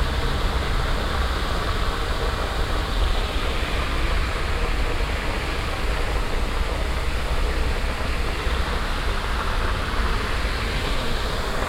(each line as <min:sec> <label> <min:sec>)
0:00.0 permanent white noise of a water fountain 0:11.6